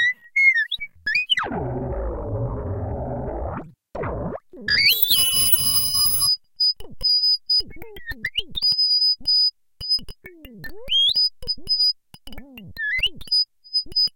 glitches 4.9 - 6.3
high pitched oscillation sounds 4.9 - 6.3

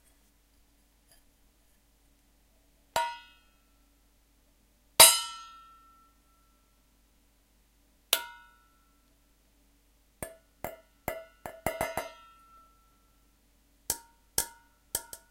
hits on pans and pots with spoons 3.0 - 3.4
hits on pans and pots with spoons 5.0 - 5.7
hits on pans and pots with spoons 8.2 - 8.6
hits on pans and pots with spoons 10.2 - 12.7
hits on pans and pots with spoons 13.9 - 15.3

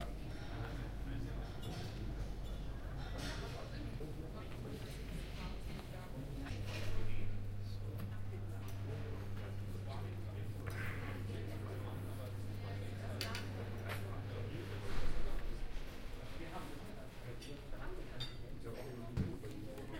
dishes 18.2 - 18.4

